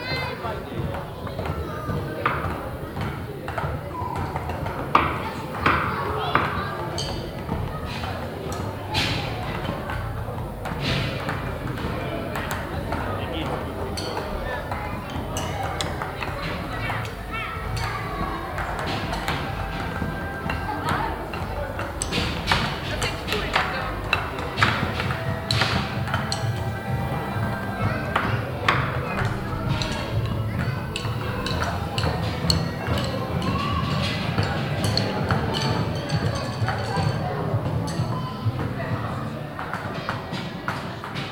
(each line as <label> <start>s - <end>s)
voices by kids and parents 0.0s - 41.3s
several drum sticks hitting simultaneously on a wooden table 28.1s - 37.2s